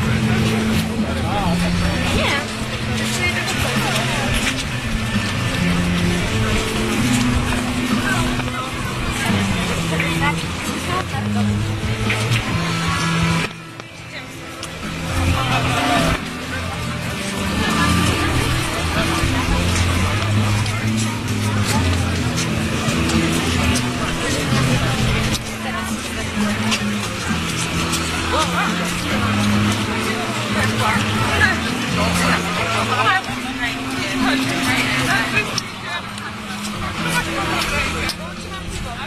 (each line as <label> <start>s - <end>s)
crowd 0.0s - 39.0s